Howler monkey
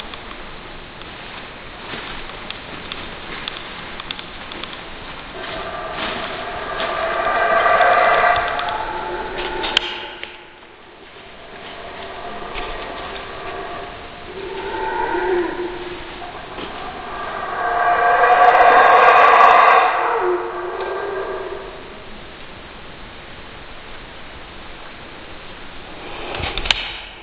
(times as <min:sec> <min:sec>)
0:05.2 0:22.4